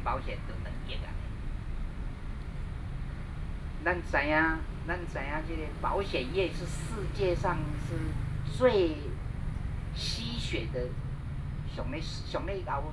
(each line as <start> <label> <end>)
0.0 Speech 1.3
3.8 Speech 9.2
10.0 Speech 11.0
11.7 Speech 12.9